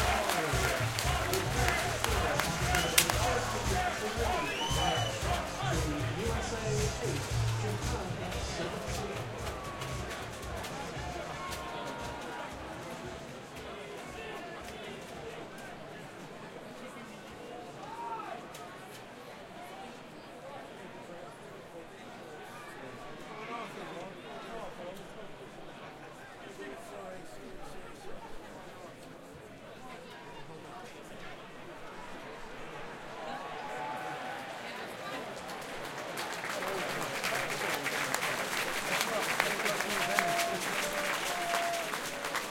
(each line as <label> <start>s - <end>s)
cheer 0.0s - 14.7s
Sports Crowd Various Sounds 0.0s - 42.5s
cheer 32.3s - 42.5s